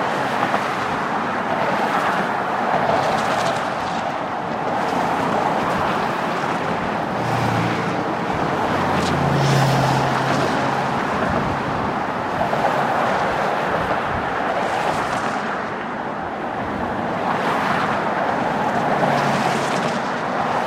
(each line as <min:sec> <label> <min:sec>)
0:00.0 traffic noise 0:20.6
0:00.0 wind 0:20.6